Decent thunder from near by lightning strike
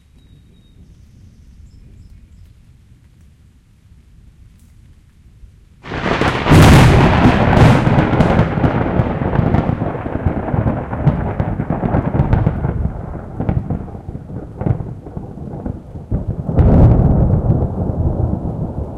0:05.8 0:18.9

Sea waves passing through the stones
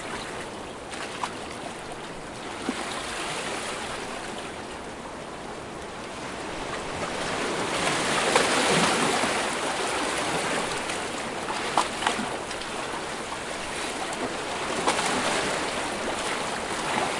0:05.5 0:17.1

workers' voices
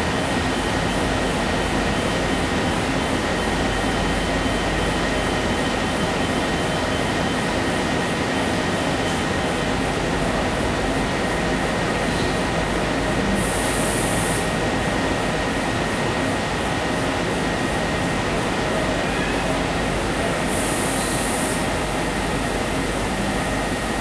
0:16.4 0:24.0

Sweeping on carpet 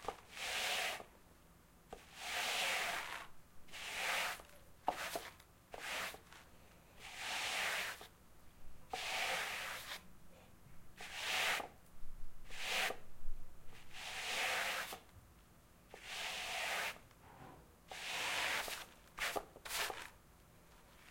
0:02.0 0:08.1

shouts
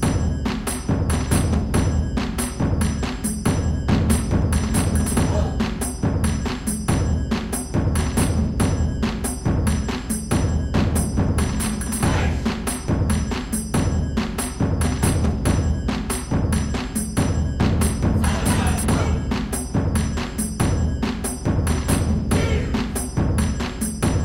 0:18.2 0:19.3, 0:22.3 0:22.9

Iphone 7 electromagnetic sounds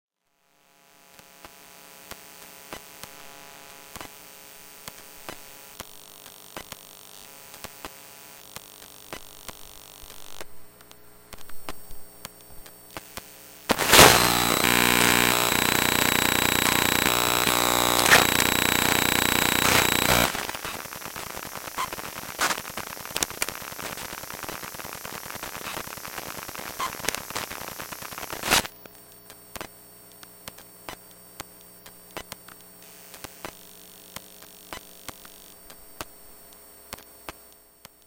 0:13.7 0:20.6

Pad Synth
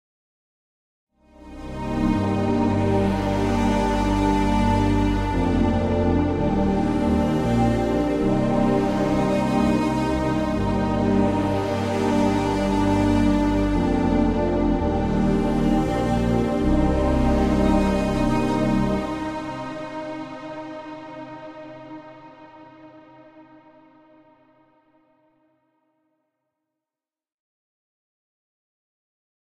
0:01.3 0:24.1

